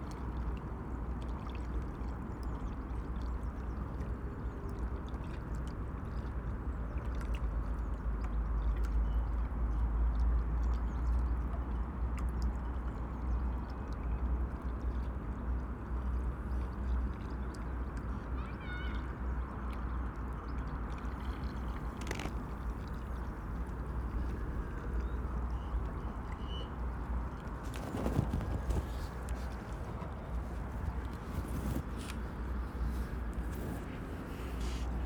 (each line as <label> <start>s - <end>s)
river ripples on the landing stage 0.0s - 35.0s
wind ruffles the microphones 21.0s - 35.0s